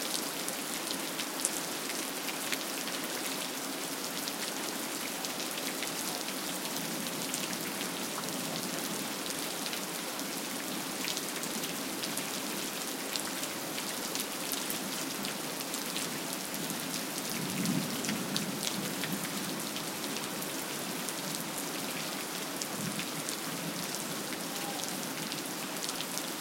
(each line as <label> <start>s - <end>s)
Rain 0.0s - 26.4s